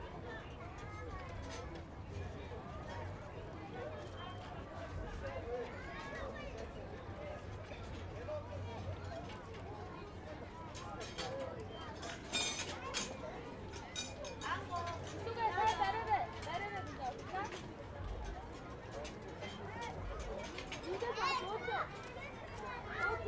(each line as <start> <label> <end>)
10.7 chain carousel 23.2